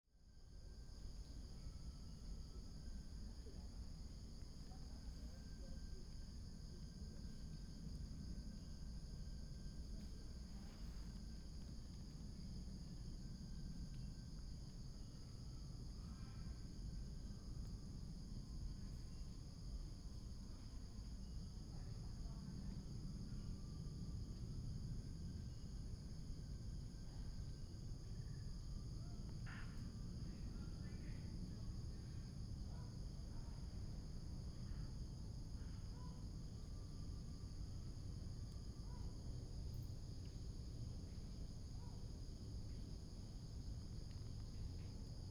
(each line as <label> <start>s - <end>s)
Insects sound 0.2s - 45.3s
plane 1.0s - 42.0s